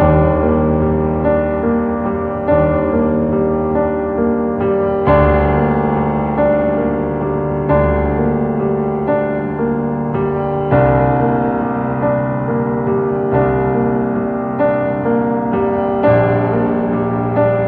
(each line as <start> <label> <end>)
0.0 classical piano 17.6